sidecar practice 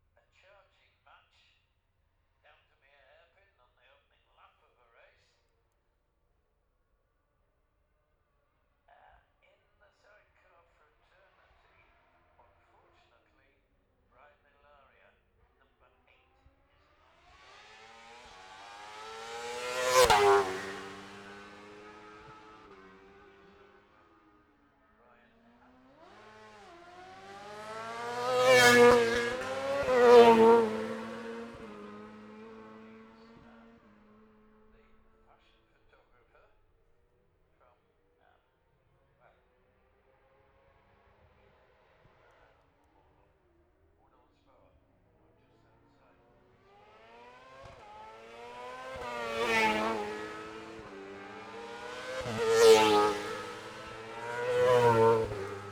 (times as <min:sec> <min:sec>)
0:16.4 0:36.7, 0:38.8 0:55.7